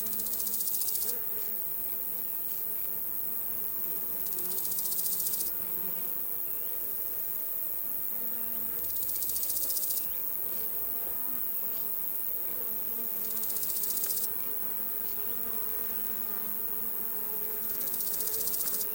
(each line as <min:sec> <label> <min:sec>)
0:00.0 crickets 0:18.9
0:00.0 insects 0:18.9